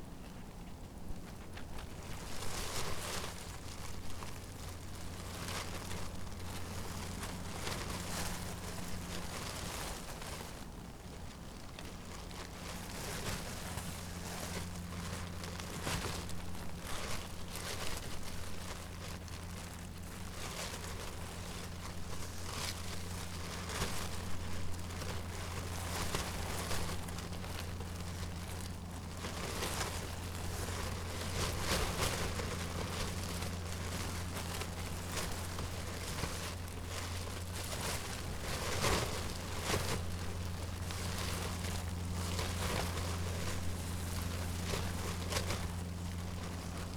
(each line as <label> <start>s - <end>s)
cellophane in the wind 0.0s - 46.9s